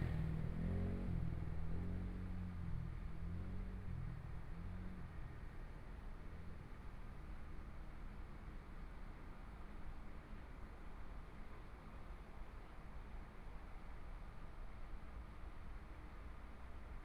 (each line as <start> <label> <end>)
0.0 Traffic Sound 1.9